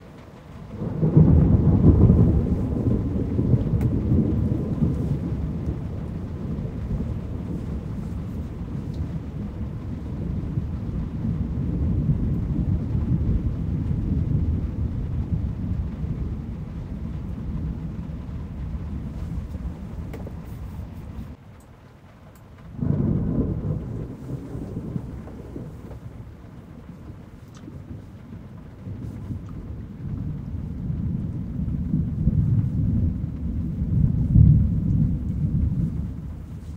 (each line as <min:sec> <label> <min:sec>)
0:00.0 muffled thunder 0:36.7